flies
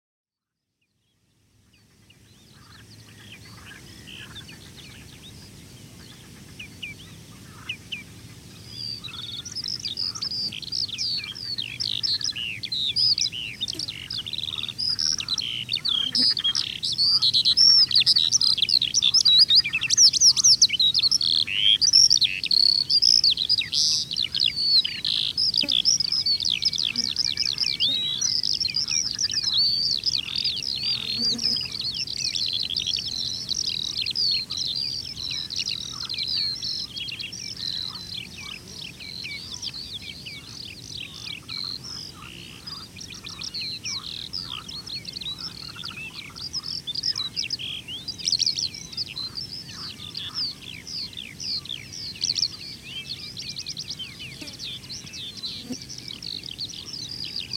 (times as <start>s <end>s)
24.4s 32.2s